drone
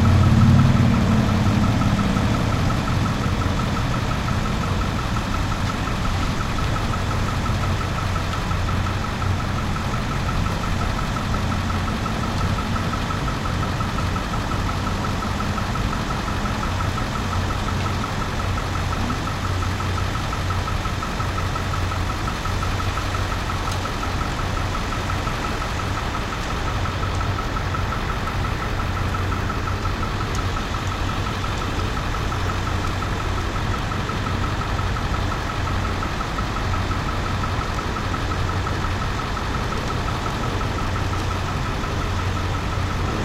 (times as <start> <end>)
0.0 16.2